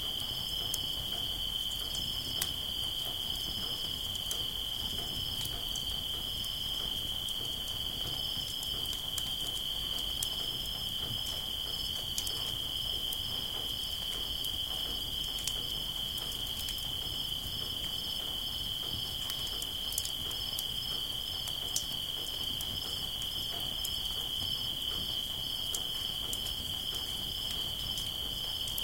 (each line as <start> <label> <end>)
0.0 crickets 28.8